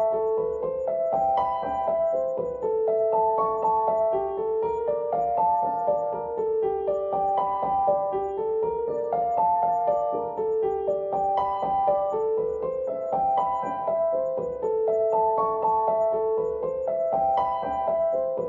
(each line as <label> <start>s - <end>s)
Piano 0.0s - 18.4s